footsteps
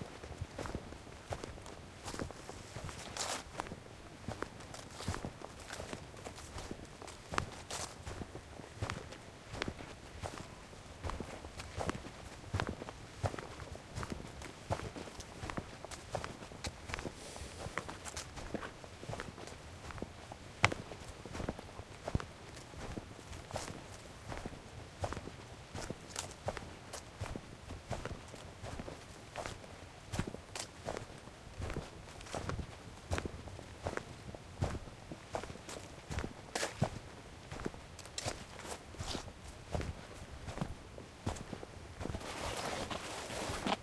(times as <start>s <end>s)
14.7s 19.3s, 41.3s 43.8s